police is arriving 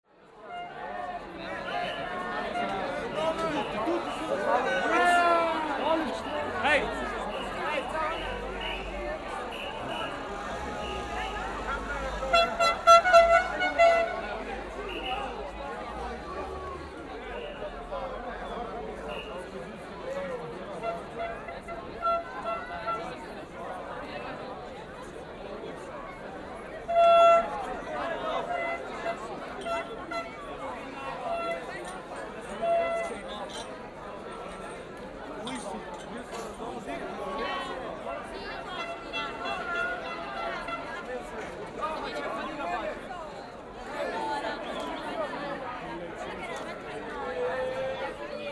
1.5 19.6

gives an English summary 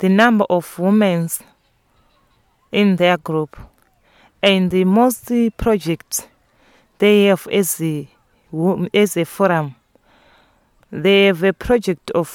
2.7 3.7, 4.4 6.3, 7.0 9.8

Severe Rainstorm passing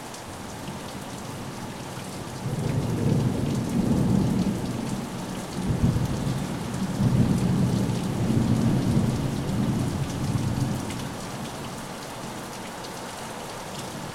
2.4 11.6

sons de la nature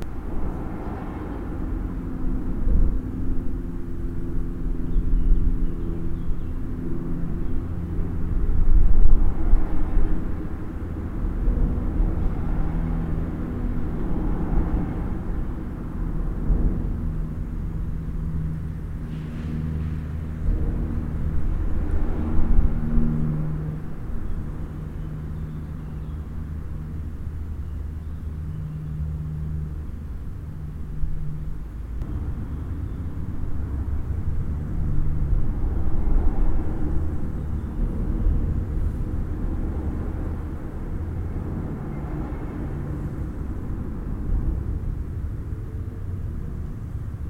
17.0 47.2

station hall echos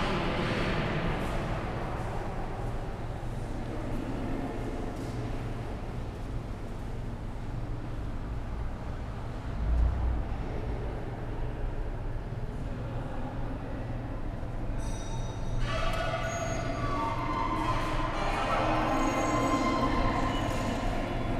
8.1 21.3

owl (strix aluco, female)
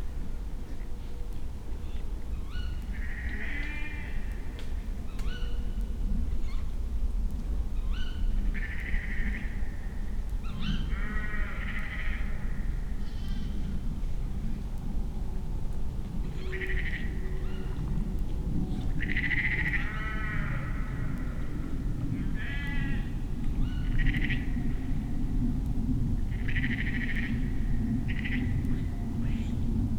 13.0 13.7, 16.3 17.8

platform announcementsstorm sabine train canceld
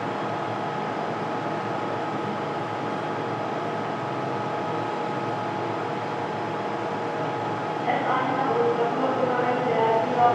7.8 10.3

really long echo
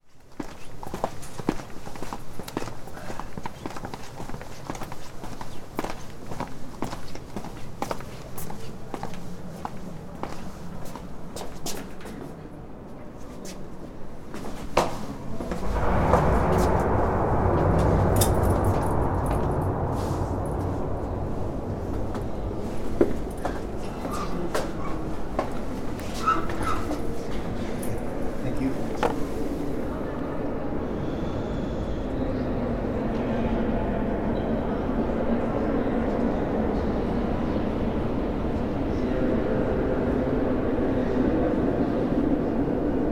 13.7 43.1

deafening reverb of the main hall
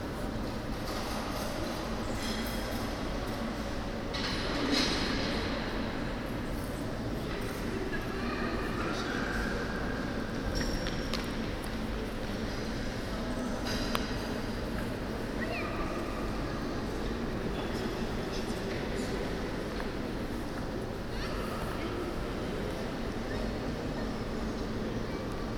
12.4 25.5

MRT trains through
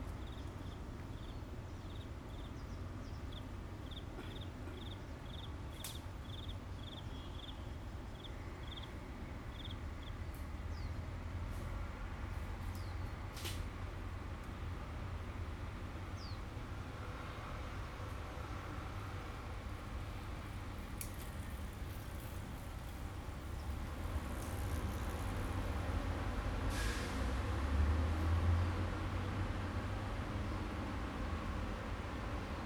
13.7 32.6

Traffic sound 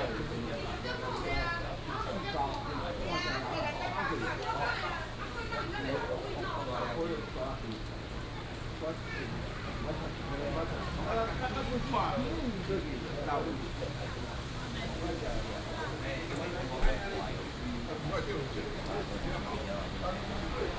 9.7 20.7

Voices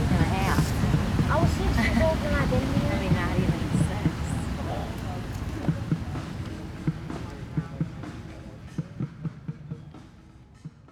0.0 8.6

